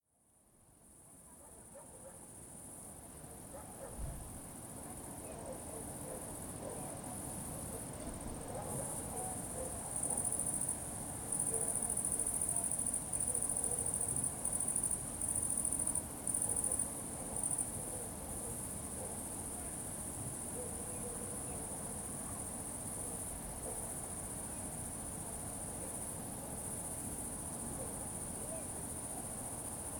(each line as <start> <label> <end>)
0.2 crickets 29.9
1.2 distant dogs 2.4
3.3 distant dogs 4.2
4.9 distant dogs 10.2
11.4 distant dogs 12.0
12.6 distant dogs 14.0
16.5 distant dogs 19.3
20.5 distant dogs 24.0